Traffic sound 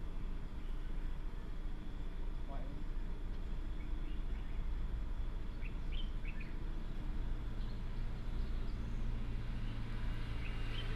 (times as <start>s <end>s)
8.1s 10.9s